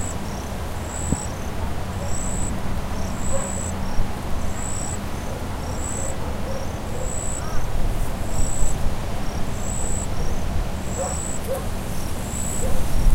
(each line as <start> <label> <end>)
0.0 cricket 13.1
0.0 distant traffic 13.1
0.0 wind 13.1
3.3 dog 3.6
6.0 dog 7.6
11.0 dog 11.7
12.6 dog 12.9